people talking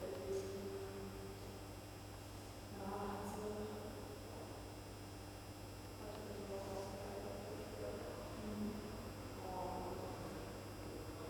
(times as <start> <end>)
0.0 1.5, 2.7 4.7, 6.0 11.2